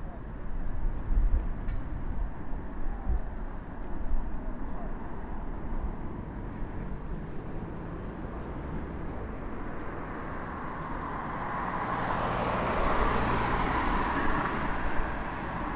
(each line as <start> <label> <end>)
0.0 Light wind 15.7
0.0 cars passing by 15.7